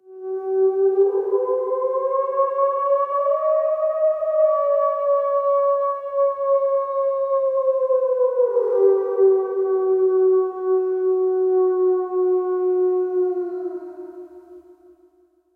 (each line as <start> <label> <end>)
0.0 howl processed sound 14.9